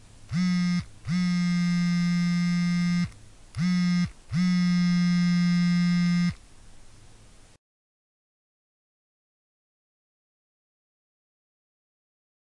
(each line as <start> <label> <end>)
0.3 phone vibrating 6.4